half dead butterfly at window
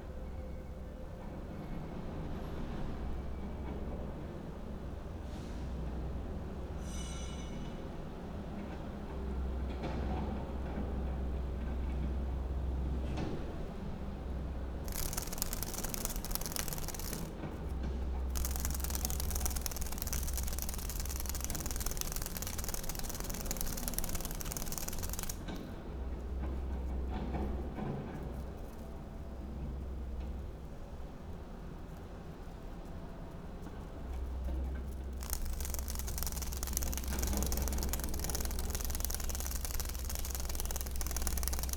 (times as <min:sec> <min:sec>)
0:14.9 0:17.6, 0:18.2 0:25.8, 0:33.9 0:41.7